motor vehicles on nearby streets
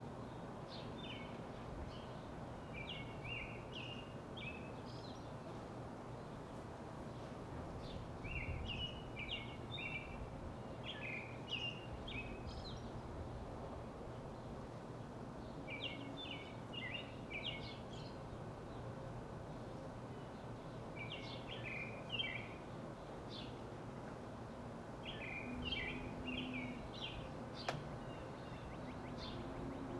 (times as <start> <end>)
23.0 29.9